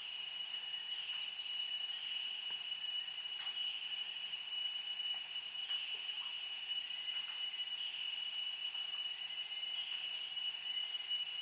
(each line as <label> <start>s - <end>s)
crickets rise and peak 0.0s - 11.4s